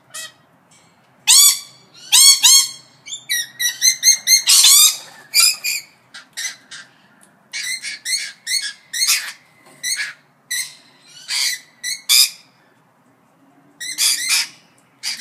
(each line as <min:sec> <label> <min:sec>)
0:01.3 Rainbow Lorikeet Parrots fighting with loud shrills 0:06.9
0:07.5 Rainbow Lorikeet Parrots fighting with loud shrills 0:12.5
0:13.8 Rainbow Lorikeet Parrots fighting with loud shrills 0:15.2